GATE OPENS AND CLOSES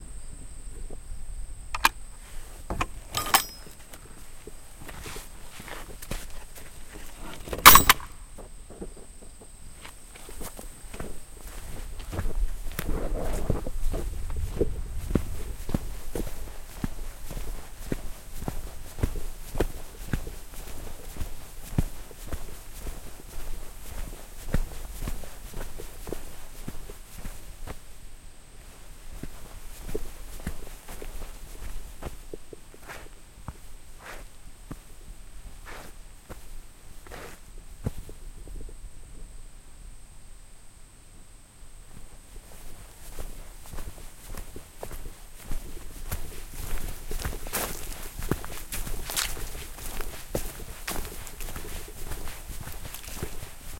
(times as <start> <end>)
2.7 3.8